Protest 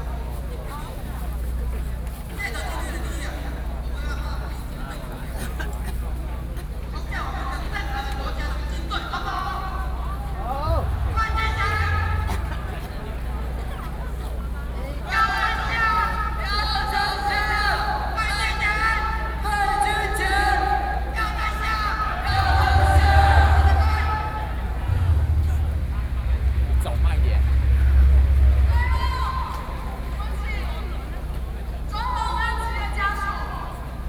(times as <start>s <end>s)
10.2s 34.0s